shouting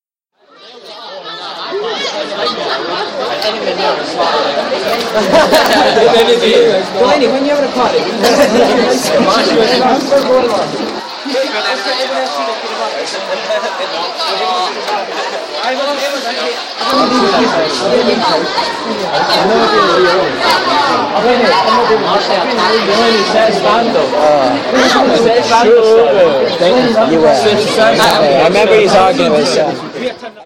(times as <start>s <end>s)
16.8s 23.4s